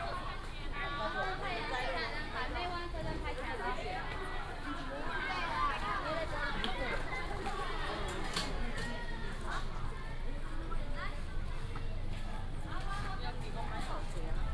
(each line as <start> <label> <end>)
0.0 Many students 14.5